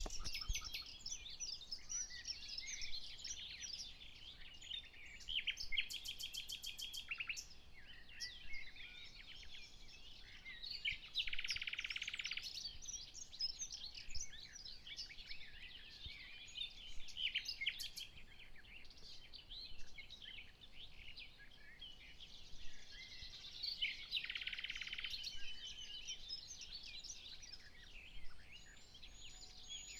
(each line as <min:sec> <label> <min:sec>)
0:00.0 many birds quiet 0:29.9